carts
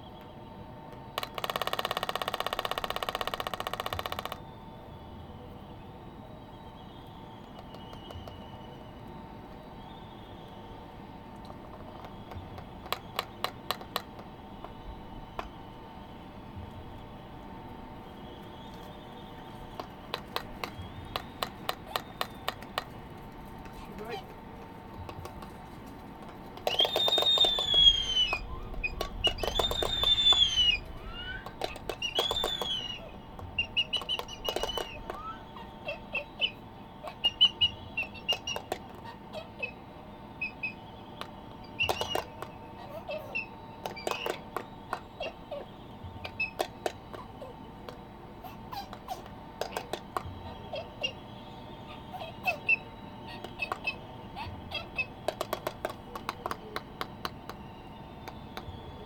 0:06.0 0:39.8

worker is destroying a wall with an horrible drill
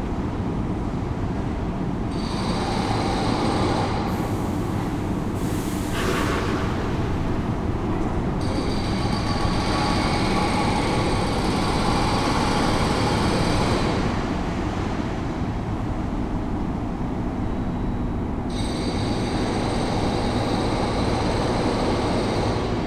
0:18.5 0:22.8

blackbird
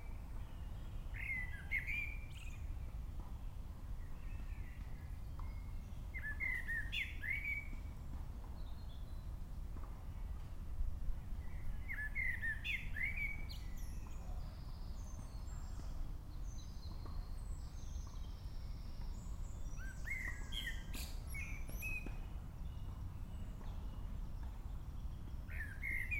0:00.5 0:02.7, 0:04.2 0:07.9, 0:11.5 0:26.1

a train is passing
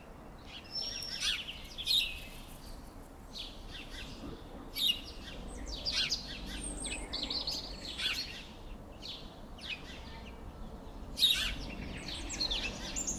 0:02.7 0:13.1

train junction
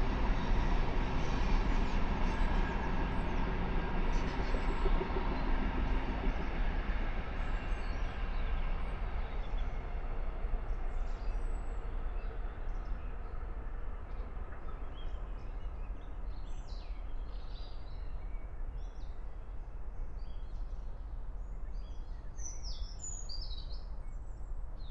0:00.0 0:11.2

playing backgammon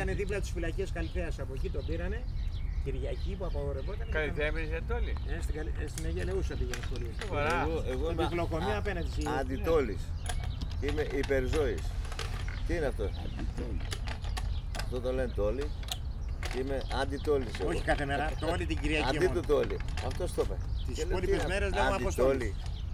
0:05.0 0:22.6

